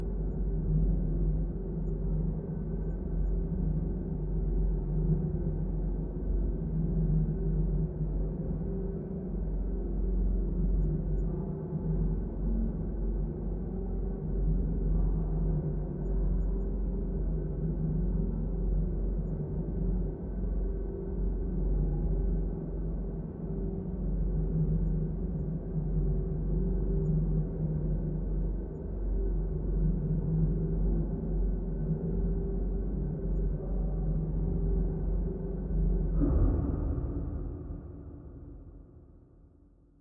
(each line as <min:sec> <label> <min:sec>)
0:36.1 Drone Sound 0:39.0